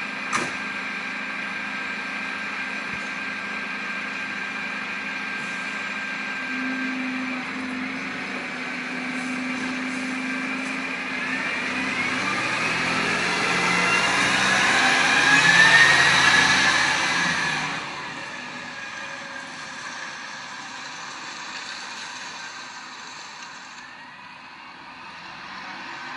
rubbish collection lorry 0.0 - 26.1

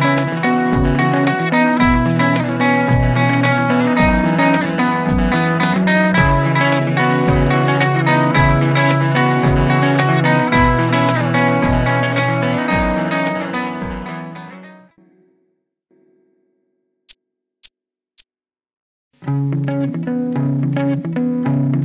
full sound rhythm part 0.0 - 14.7
melodic pattern 0.0 - 14.7
muted rhythm part 0.0 - 14.7

